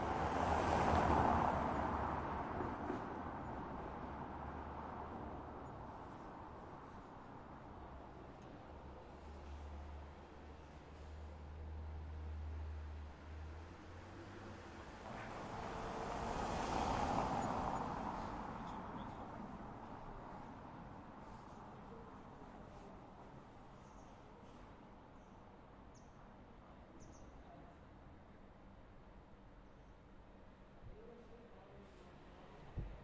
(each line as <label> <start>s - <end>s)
Crossing car 0.0s - 5.9s
Crossing car 13.0s - 21.0s